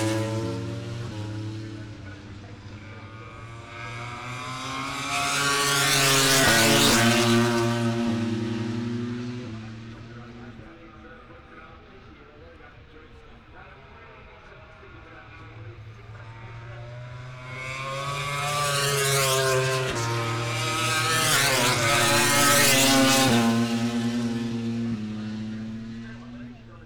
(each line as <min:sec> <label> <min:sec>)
0:00.0 motorcycle grand prix 0:26.8